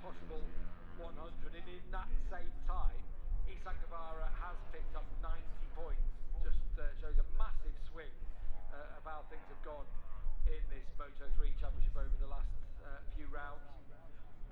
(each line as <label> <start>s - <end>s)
motorcycle grand prix 0.0s - 14.5s